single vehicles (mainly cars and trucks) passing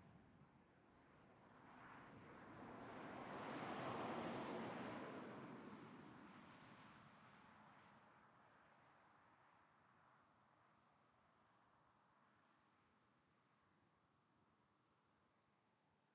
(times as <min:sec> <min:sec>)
0:01.8 0:07.9